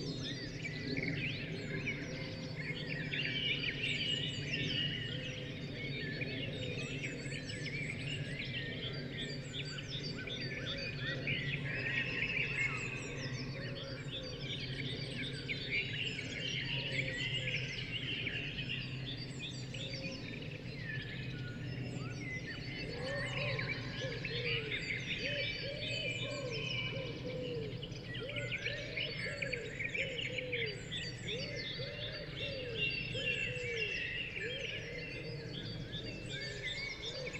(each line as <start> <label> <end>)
0.0 Blackbirds 37.3
0.0 Pheasants 37.3
0.0 Robins 37.3
0.0 aircraft 37.3
22.8 Tawny Owls calling 37.3